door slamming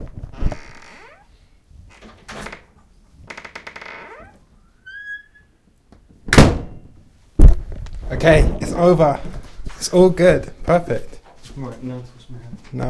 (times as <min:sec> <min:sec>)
0:06.2 0:07.6